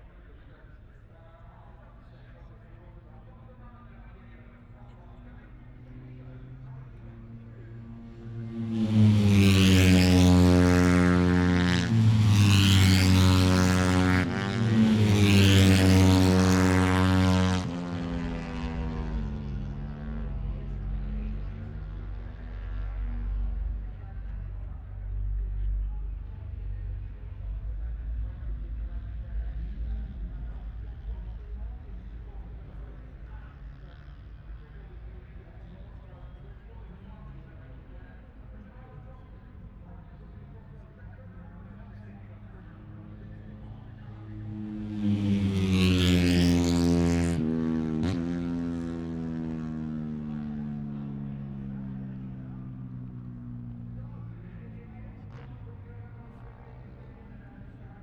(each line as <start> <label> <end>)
0.0 motorcycle grand prix 58.0